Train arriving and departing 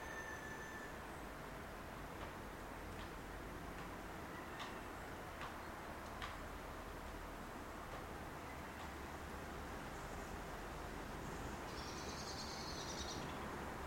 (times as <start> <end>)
0.0 2.0